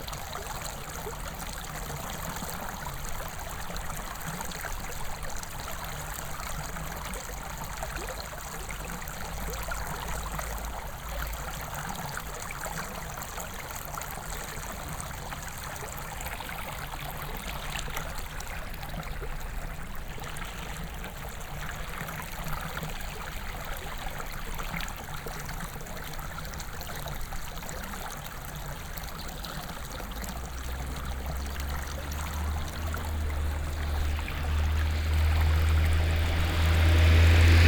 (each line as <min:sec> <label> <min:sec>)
0:00.0 water flows from a small channel 0:37.6